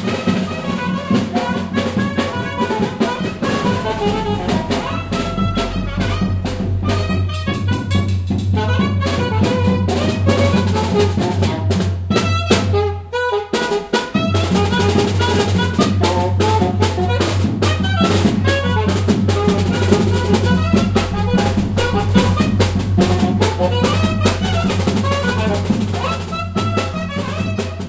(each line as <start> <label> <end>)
0.0 Folk Music Family Band playing on street 27.8
0.0 people 27.8